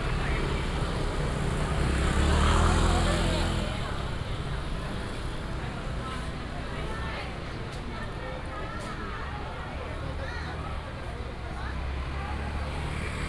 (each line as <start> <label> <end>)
0.0 traffic sound 6.6
11.2 traffic sound 13.2